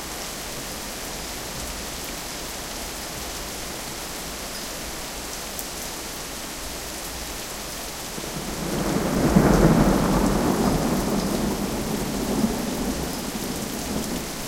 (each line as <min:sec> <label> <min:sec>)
0:00.0 heavy rain 0:14.4
0:08.3 Thunder 0:14.4